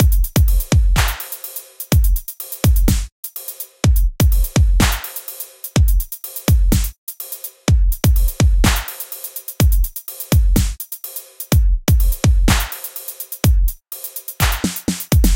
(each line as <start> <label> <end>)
0.0 hi hat 15.3
1.0 snare 1.7
2.9 snare 3.1
4.8 snare 5.4
8.6 snare 9.2
12.5 snare 13.1
14.4 snare 15.3